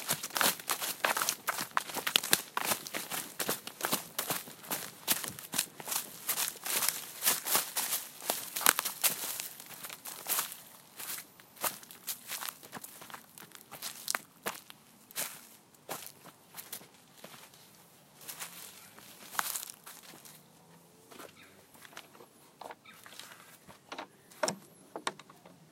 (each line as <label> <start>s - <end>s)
birdsong 20.4s - 25.7s